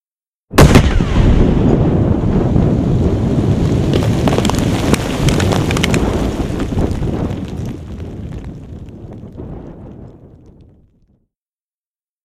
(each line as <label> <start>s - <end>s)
froced ammunition explosion 0.5s - 8.3s
wind 0.6s - 11.1s